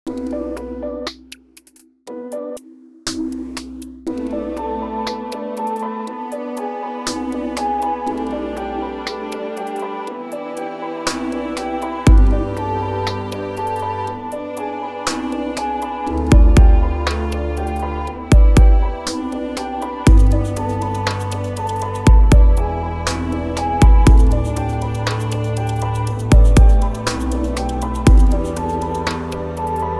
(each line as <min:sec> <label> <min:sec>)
0:00.0 bass 0:01.4
0:04.0 Strings 0:29.9
0:06.5 percs 0:29.9
0:11.1 bass 0:14.4
0:11.9 piano loops 0:29.9
0:15.1 bass 0:29.9
0:27.0 snare samples 0:28.0
0:29.1 snare samples 0:29.9